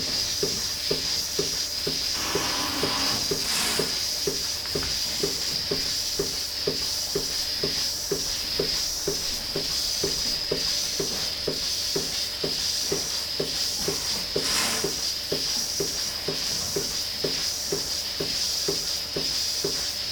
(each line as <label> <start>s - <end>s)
milking robot 0.4s - 4.5s